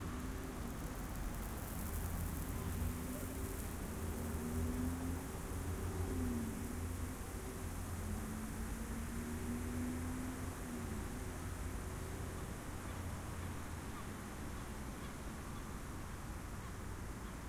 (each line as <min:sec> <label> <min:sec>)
0:00.0 Steady lawn Sprinkler 0:17.4